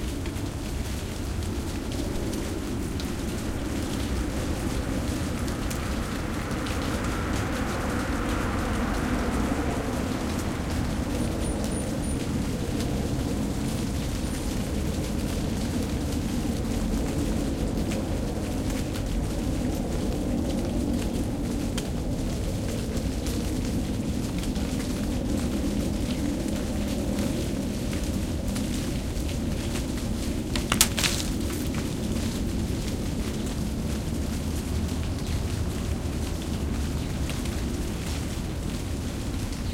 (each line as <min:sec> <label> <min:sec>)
0:26.1 green leaves falling off a tree 0:38.3
0:29.5 leaves struck the microphone 0:32.5